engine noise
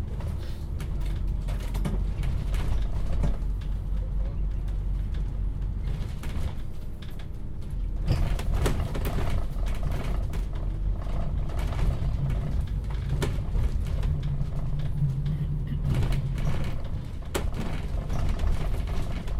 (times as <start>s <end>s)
10.0s 19.2s